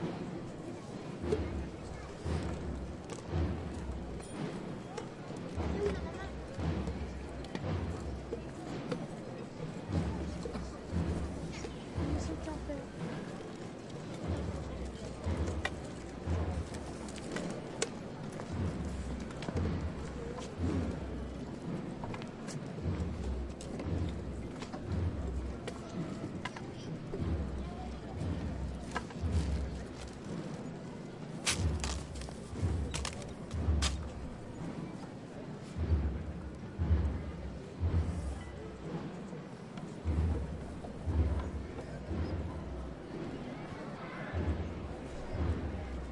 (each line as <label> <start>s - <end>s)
People marching 0.0s - 46.1s
de-phased drums 0.0s - 46.1s
all the sticks are dropped on the ground 31.4s - 34.0s
sticks hitting the ground 31.4s - 34.1s